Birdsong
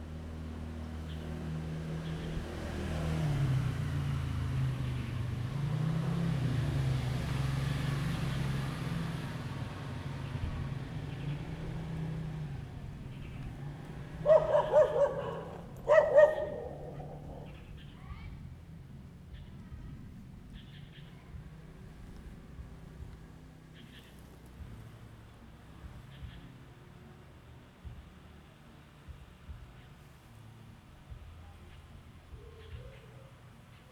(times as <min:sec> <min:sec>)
0:00.1 0:26.8